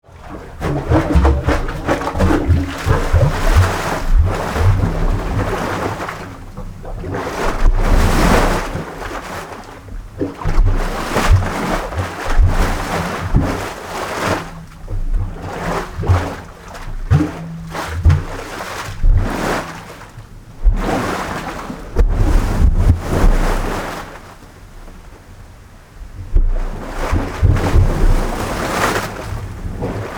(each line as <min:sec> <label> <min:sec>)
0:00.0 Sea in a Pipe 0:30.1